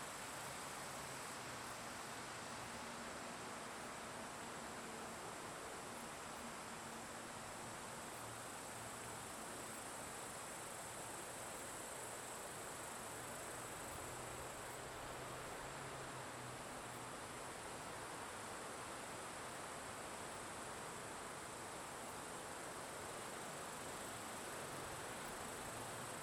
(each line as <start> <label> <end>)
0.0 insects 26.2
0.0 plants making sounds in the grass 26.2
0.0 trees rustling their leaves 26.2